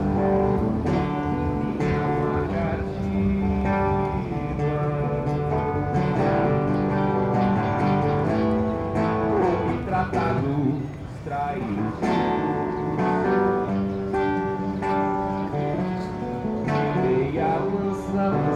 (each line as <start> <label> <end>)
0.0 street musician singing and playing the song 18.5